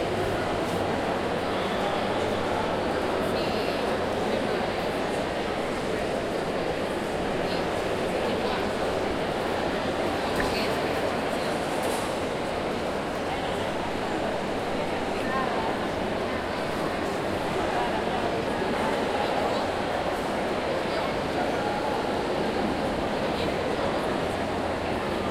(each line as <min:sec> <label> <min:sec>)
0:00.0 students talking and eating 0:25.3